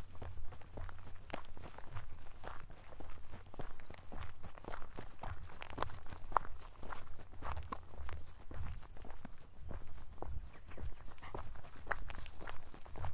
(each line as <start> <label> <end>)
0.0 Walking through a bush / forest 13.1
0.0 wind 13.1
9.5 birds 11.6